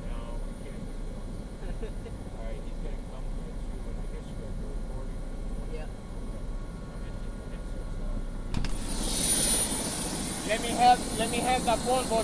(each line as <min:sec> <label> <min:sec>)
0:00.0 helicopter landing 0:12.2